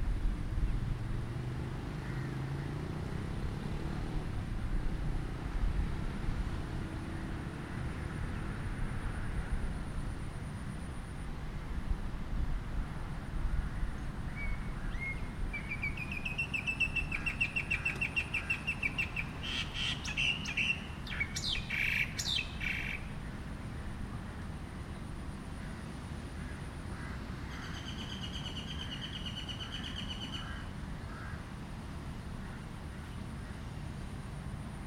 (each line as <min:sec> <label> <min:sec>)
0:00.0 cars 0:34.8
0:00.0 wind 0:34.8
0:13.7 birds 0:31.5